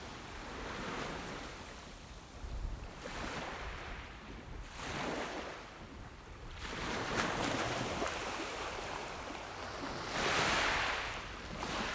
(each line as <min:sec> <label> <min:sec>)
0:06.7 waves 0:11.9